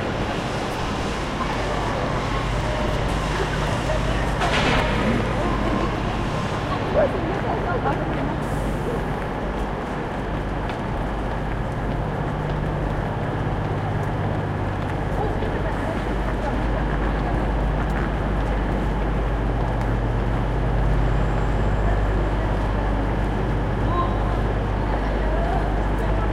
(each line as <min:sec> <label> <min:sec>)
0:00.0 Loud metallic noises 0:07.4
0:00.0 train has arrived 0:26.3
0:01.2 voice 0:09.4
0:15.0 voice 0:18.7
0:21.4 voice 0:26.3